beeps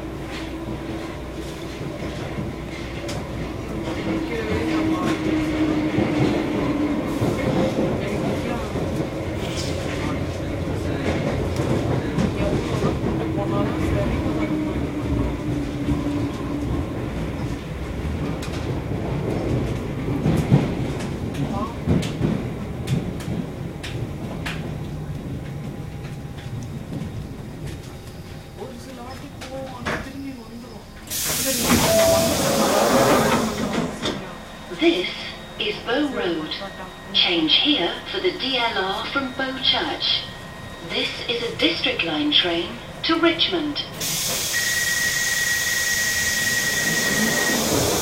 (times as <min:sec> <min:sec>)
0:31.8 0:32.9